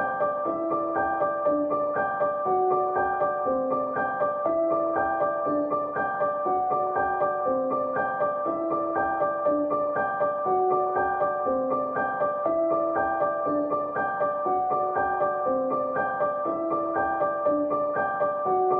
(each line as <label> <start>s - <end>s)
Piano 0.0s - 18.7s